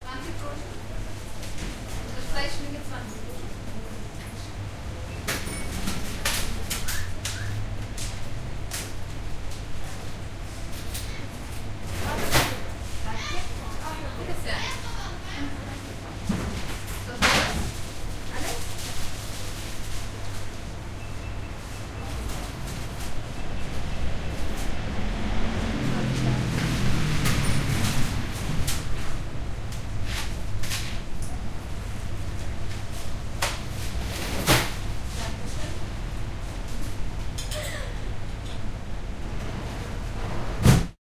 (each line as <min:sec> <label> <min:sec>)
0:21.0 Voices 0:29.3